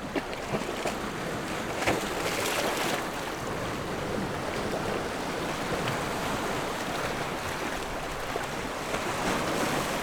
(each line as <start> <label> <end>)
0.0 Waves and tides 10.0